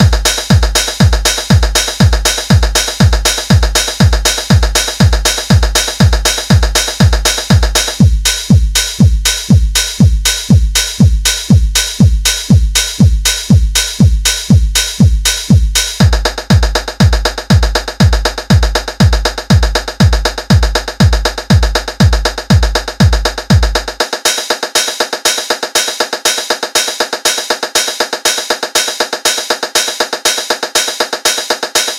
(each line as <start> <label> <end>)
0.0 drum loop 31.9